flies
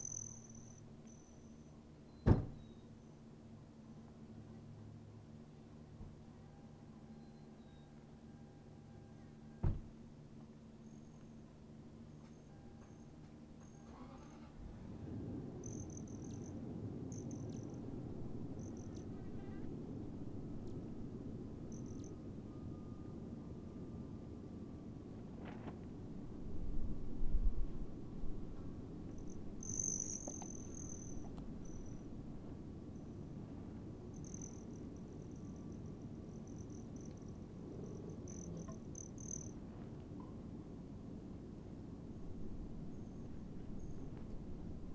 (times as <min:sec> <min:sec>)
0:18.6 0:19.7, 0:29.2 0:32.0, 0:34.1 0:39.6